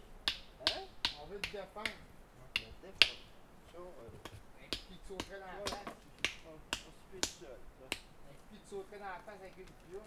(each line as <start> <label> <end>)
0.2 working with granite they hammer 3.3
4.2 working with granite they hammer 8.1